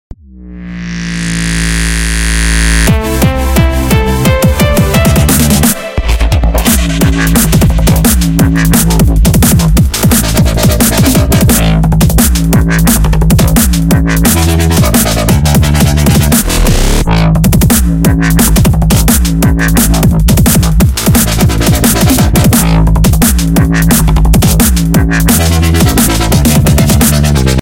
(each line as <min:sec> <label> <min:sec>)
0:00.0 bass 0:27.6
0:00.1 synth 0:08.9
0:04.3 hat 0:16.8